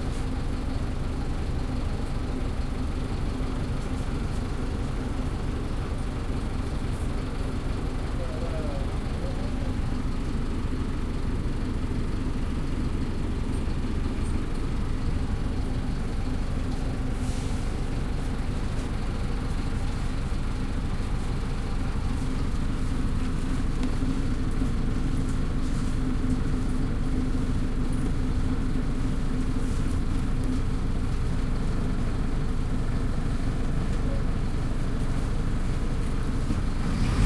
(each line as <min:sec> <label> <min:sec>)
0:00.0 bus 0:37.2